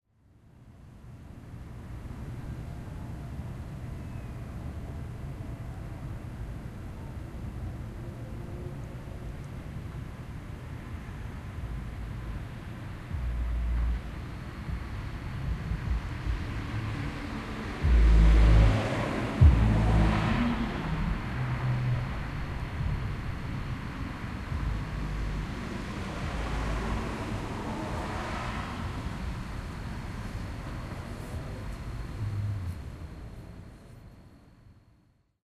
Windy Neighborhood 0:00.1 - 0:35.1
Traffic 0:00.2 - 0:34.8
car goes by booming the bass 0:13.1 - 0:23.7
car goes by booming the bass 0:24.4 - 0:29.3
car goes by booming the bass 0:31.6 - 0:32.9

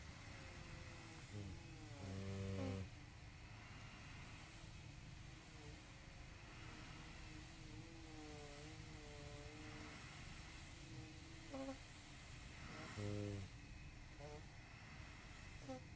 breathing 0:00.0 - 0:15.9
decrepit Constant Positive Air Pressure sleeping machine 0:00.0 - 0:15.9
intermittent beeping is the machine's warning sound 0:00.0 - 0:15.9
fart 0:01.4 - 0:02.9
fart 0:11.5 - 0:11.8

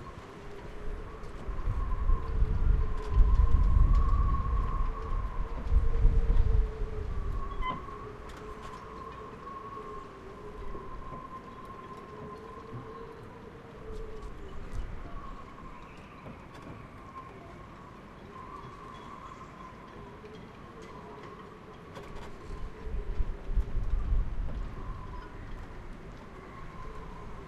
wind rattles the rigging of the yachts 0:00.0 - 0:27.4
birds flying across the harbour making mournful squawks 0:06.7 - 0:27.4

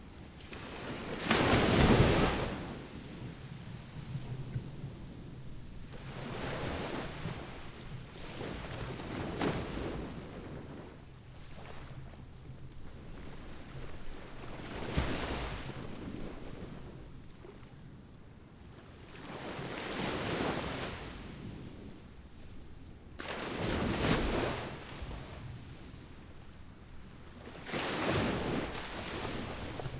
strong surf, breaking waves 0:27.6 - 0:29.9

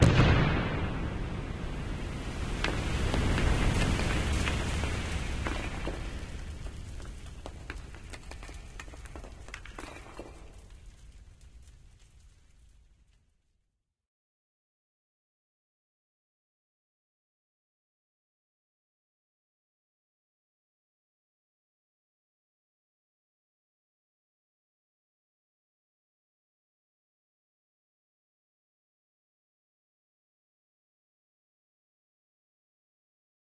Gas explosion 0:00.0 - 0:08.1
tunnel collapse in the mine 0:00.0 - 0:13.6

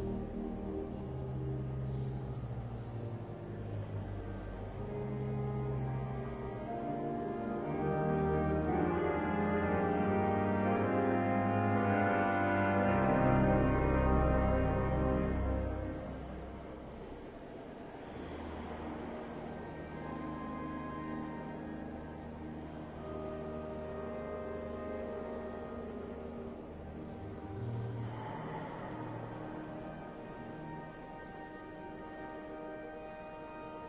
organ playing in the foreground 0:00.0 - 0:17.1
visitors walking and talking 0:15.1 - 0:33.8
organ playing in the foreground 0:19.2 - 0:28.1
organ playing in the foreground 0:29.1 - 0:33.8

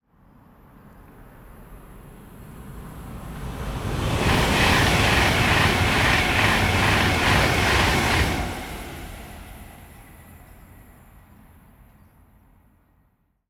train passing by 0:01.2 - 0:12.7

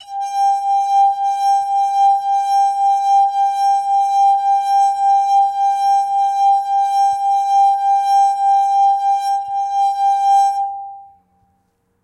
Water Glass Pitch G4 0:00.0 - 0:06.4

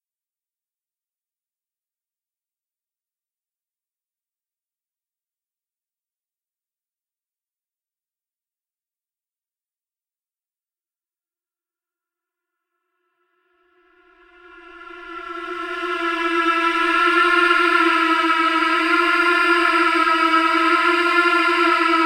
Strange Pleading Chant 0:13.8 - 0:22.0

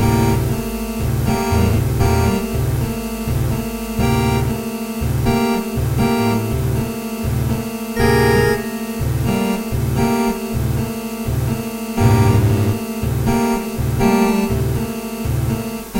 organ 0:12.0 - 0:13.1

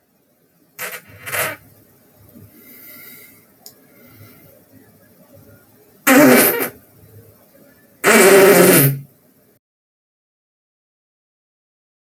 fart 0:00.8 - 0:01.7
fart 0:06.1 - 0:06.8
fart 0:08.0 - 0:09.1

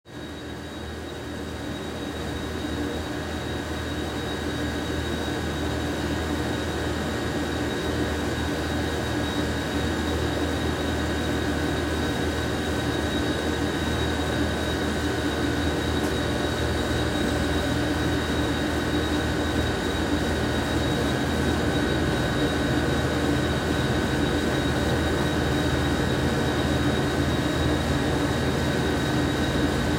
Droning buzz of vending machines 0:00.1 - 0:29.9

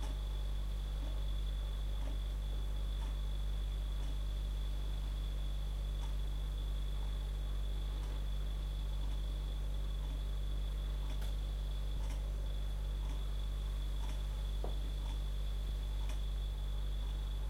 the fridge's sound 0:00.0 - 0:17.4
Clock on the wall 0:00.9 - 0:04.5
Clock on the wall 0:09.0 - 0:16.4

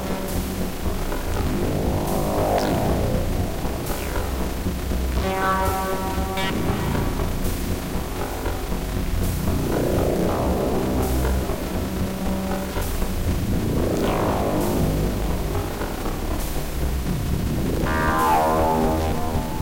random sounds generated by the software 0:00.0 - 0:19.6

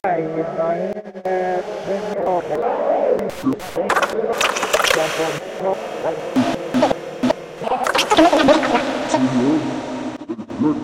Radically cut up voice samples 0:00.9 - 0:10.8

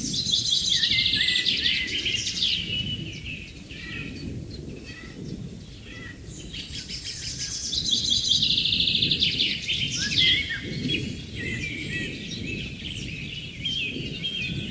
BIRDS 0:00.0 - 0:14.7

